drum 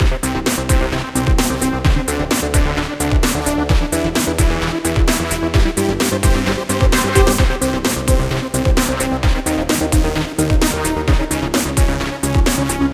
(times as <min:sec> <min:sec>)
0:06.7 0:08.3